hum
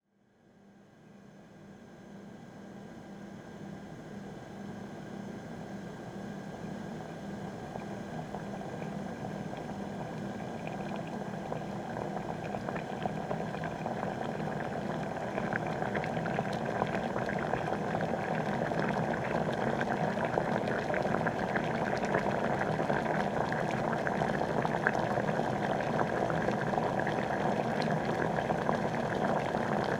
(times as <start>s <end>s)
7.0s 29.9s